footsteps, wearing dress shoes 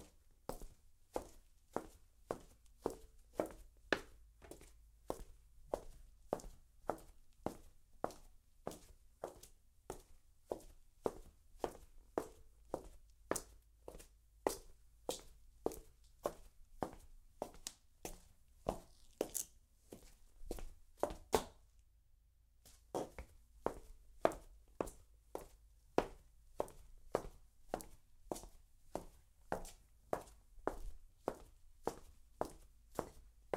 0:14.5 0:21.6, 0:22.7 0:33.5

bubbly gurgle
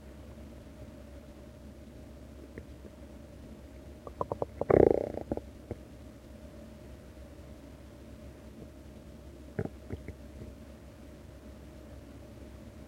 0:04.0 0:05.5

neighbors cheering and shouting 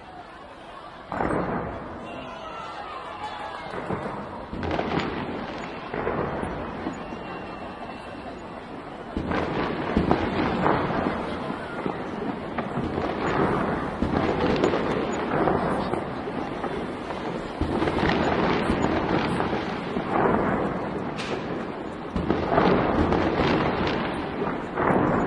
0:00.0 0:15.0

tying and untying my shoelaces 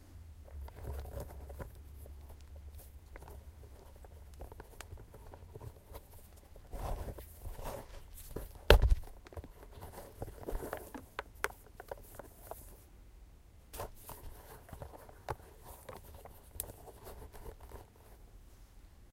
0:00.5 0:12.7

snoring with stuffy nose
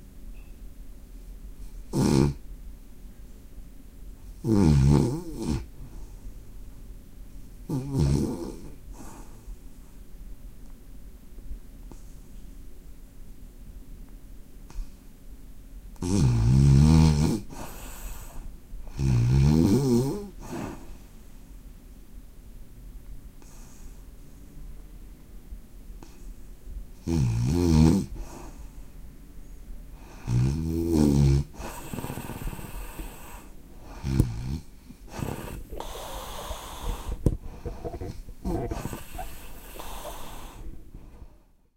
0:01.9 0:02.4, 0:04.4 0:05.7, 0:07.7 0:09.2, 0:16.0 0:20.9, 0:27.0 0:28.6, 0:30.0 0:41.4

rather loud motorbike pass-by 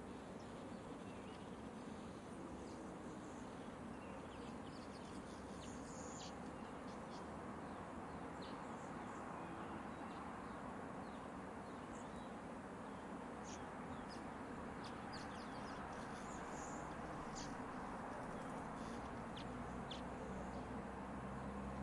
0:13.4 0:21.8

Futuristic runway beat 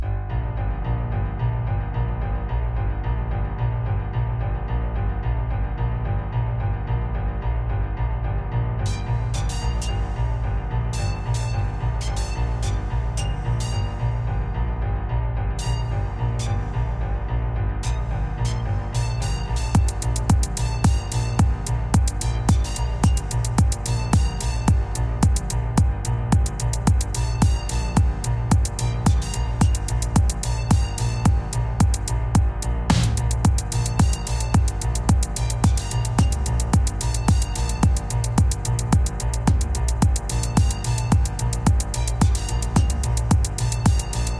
0:19.0 0:44.3

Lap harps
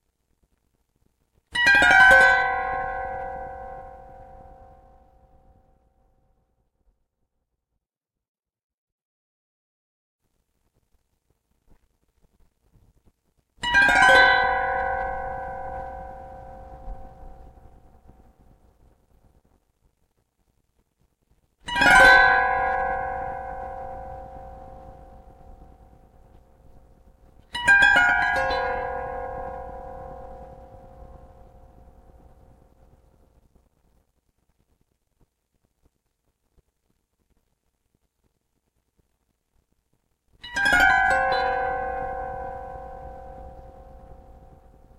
0:13.6 0:18.3, 0:27.5 0:32.6, 0:40.4 0:44.9

